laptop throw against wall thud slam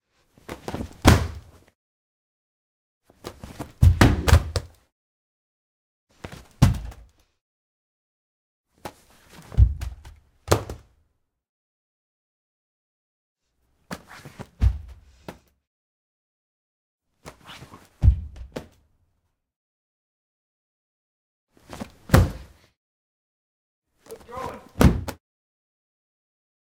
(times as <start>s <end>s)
1.0s 1.4s, 22.1s 22.5s, 24.8s 25.2s